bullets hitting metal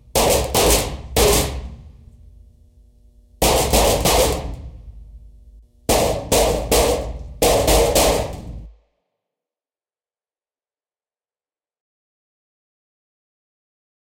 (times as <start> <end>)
0.1 2.0, 3.4 4.7, 5.9 8.7